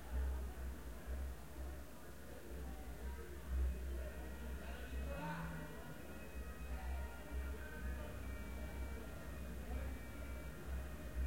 0.0s Crowd young people through window 11.2s

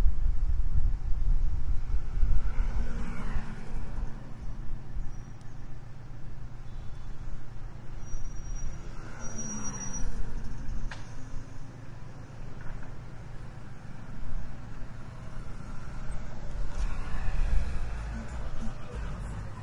13.0s motoconchos 19.6s

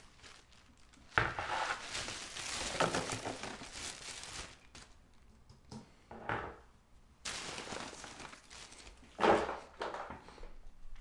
0.0s dumping them into a garbage bag 4.9s
1.1s Collecting items off of a table 3.9s
7.2s dumping them into a garbage bag 10.1s
7.3s Collecting items off of a table 10.3s

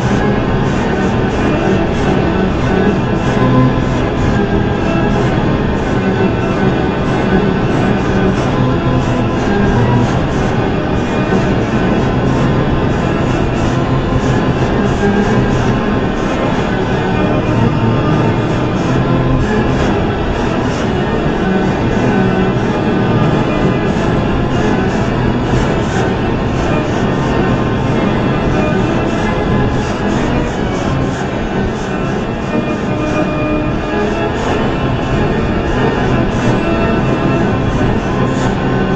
0.0s music 38.9s

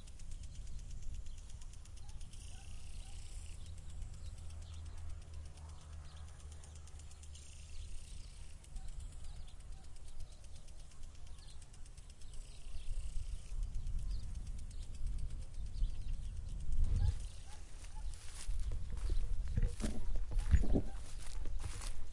0.0s birds 22.1s
0.0s sprinkler 22.1s
16.9s footsteps 22.1s

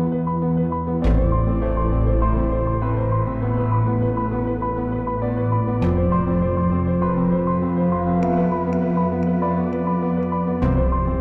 0.0s Piano 11.2s
0.0s Synths 11.2s

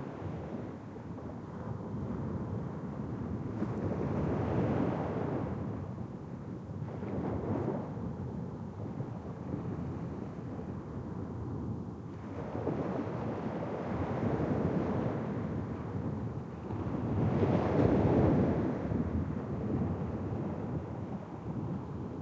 0.0s Waves breaking on a sandy beach 22.2s

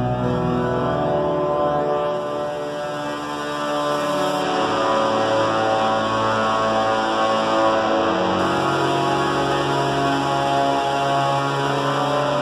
0.0s synthesizer 12.4s

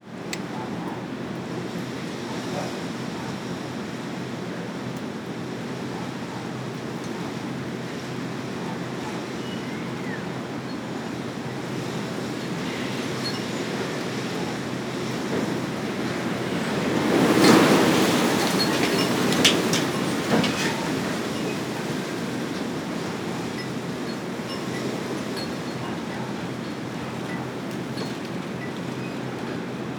0.0s Moderate wind with strong gusts 29.9s
15.4s creaking branches 25.8s

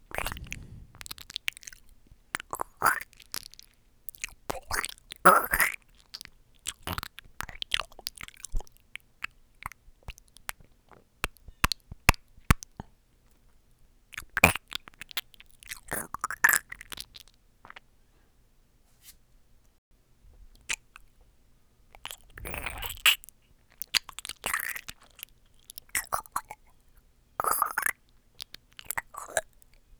0.1s mouth squish noises 1.2s
22.0s mouth squish noises 26.6s

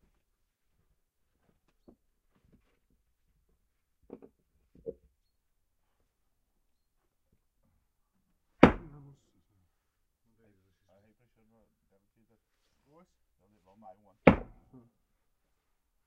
8.6s places the logs on the plinth 9.0s
8.6s splitting dry hardwood logs 9.0s
14.2s places the logs on the plinth 14.7s
14.3s splitting dry hardwood logs 14.6s

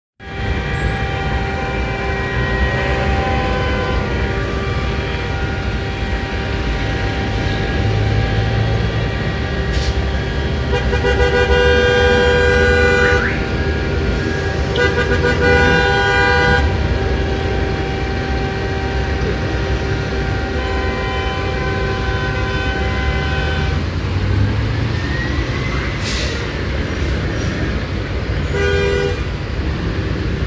0.2s traffic jam 30.4s
0.2s horns 24.1s
28.4s horns 29.4s

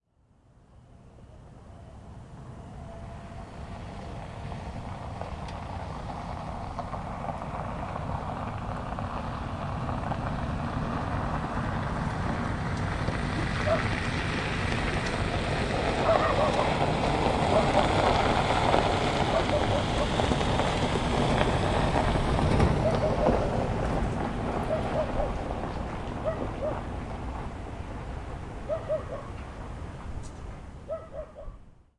13.6s dog 13.9s
16.0s dog 16.7s
19.3s dog 20.1s
22.8s dog 23.4s
24.7s dog 25.4s
26.2s dog 26.8s
28.7s dog 29.4s
30.9s dog 31.6s

